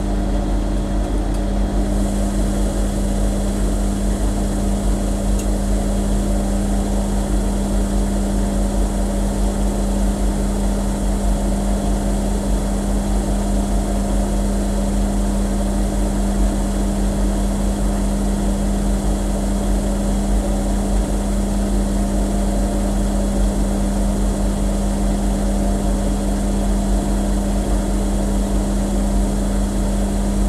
washing machine 0.0 - 30.4

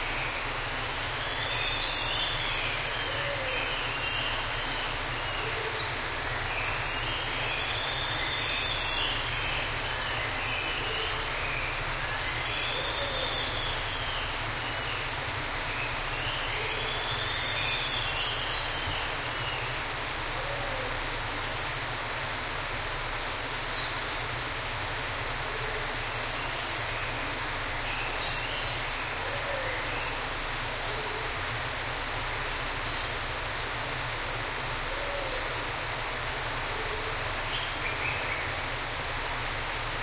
waterfall 0.0 - 40.0

